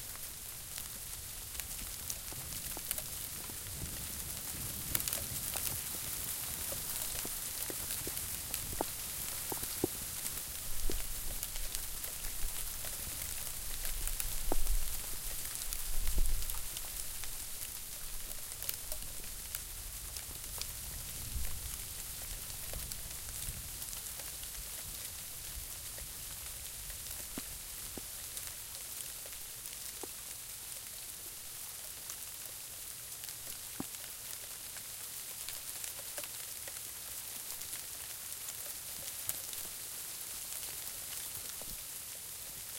0.0s sleet and freezing rain 42.7s

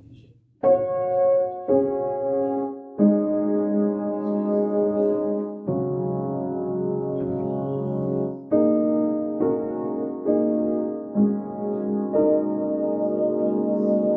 0.0s piano 14.1s

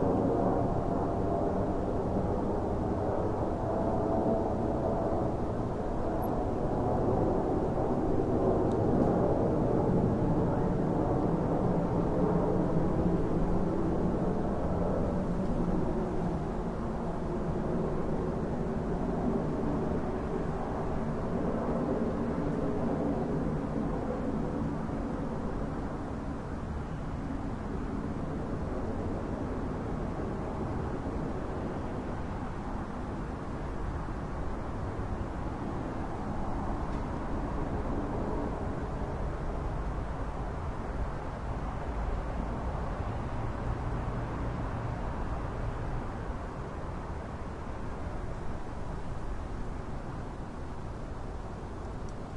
0.0s Plane Overhead 52.3s

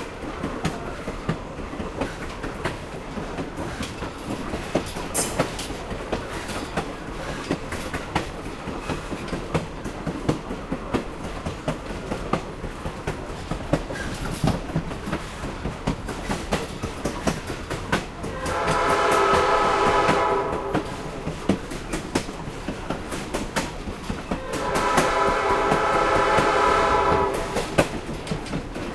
0.0s clickity-clackity track 28.9s
0.0s train 28.9s
0.0s train crossing 28.9s
18.2s train whistle 21.1s
24.3s train whistle 27.8s

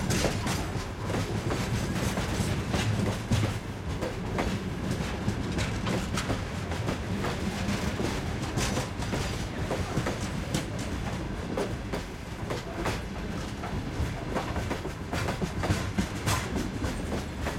0.0s freight train at low speed passes 17.5s

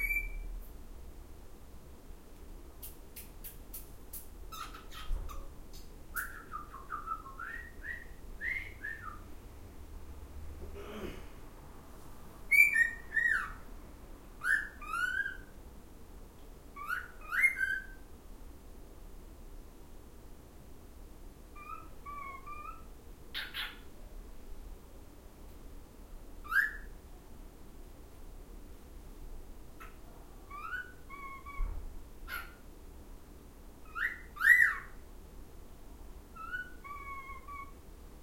0.0s Cockatiel Whistling and Making Other Noises 0.5s
0.0s outside noise 38.2s
12.5s Cockatiel Whistling and Making Other Noises 13.6s
14.4s Cockatiel Whistling and Making Other Noises 15.5s
16.8s Cockatiel Whistling and Making Other Noises 18.0s
21.6s Cockatiel Whistling and Making Other Noises 23.8s
26.4s Cockatiel Whistling and Making Other Noises 26.9s
30.5s Cockatiel Whistling and Making Other Noises 32.6s
33.9s Cockatiel Whistling and Making Other Noises 34.9s
36.4s Cockatiel Whistling and Making Other Noises 37.7s

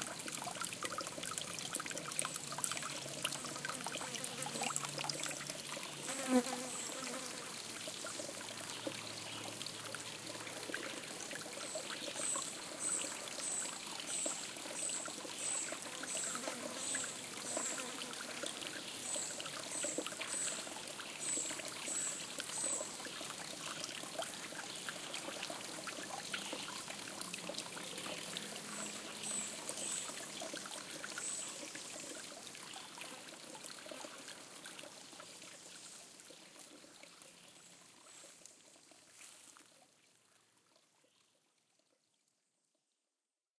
0.0s light stream 42.1s
6.0s fly 7.5s
15.4s fly 20.6s

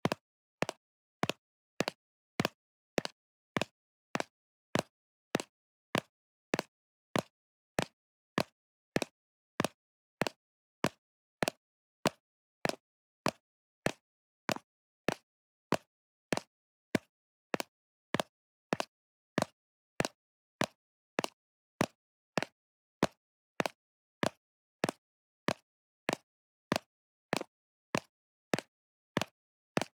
0.0s High-heel footsteps recreated using two empty Tic Tac containers 12.8s

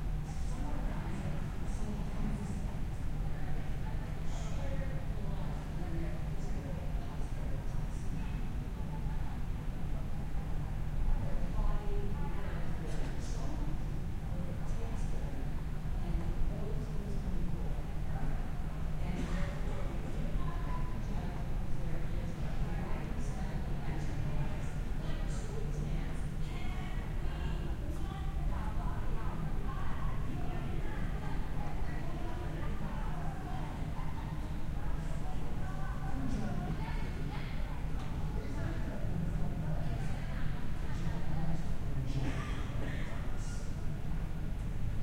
0.0s people speaking 43.9s

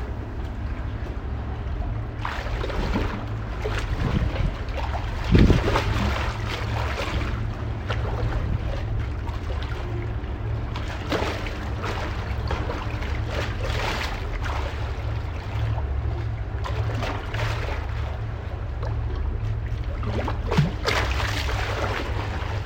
0.0s river 22.6s

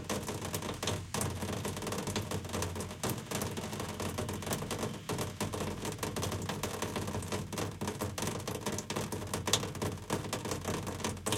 0.0s raindrops on a window air conditioner 11.3s
0.7s distant street noise 7.8s

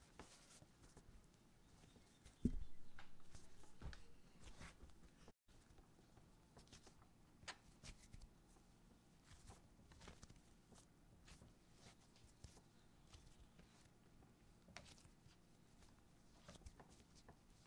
1.2s background bird noise 5.3s
7.7s Kneading Bread 17.6s
10.5s background bird noise 17.6s

